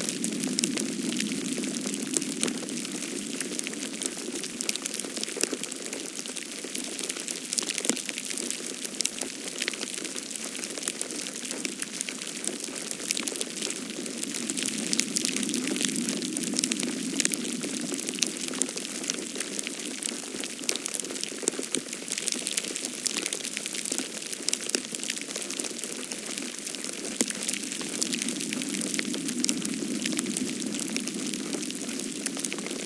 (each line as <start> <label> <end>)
22.2 Snow falling 32.8